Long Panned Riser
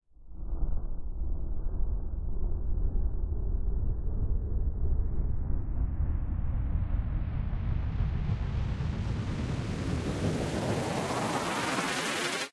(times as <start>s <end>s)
7.8s 12.5s